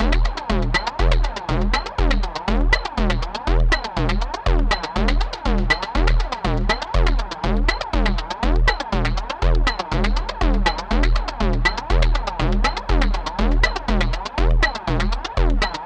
0.0s Percussion 15.8s

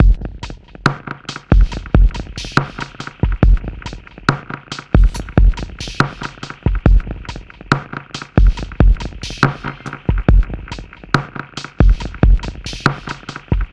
0.0s electrofunk breakbeats 13.7s

